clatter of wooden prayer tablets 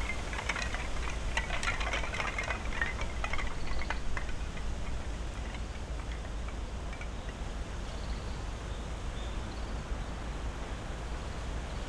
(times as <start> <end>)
0.0 7.4